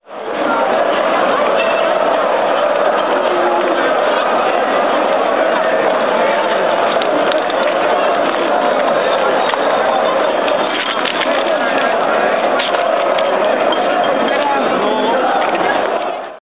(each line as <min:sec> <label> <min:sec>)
0:00.0 crowd 0:16.4